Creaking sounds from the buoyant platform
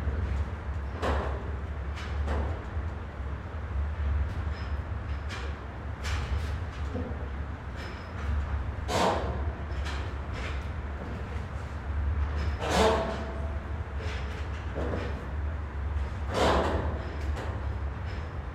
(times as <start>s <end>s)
4.3s 18.3s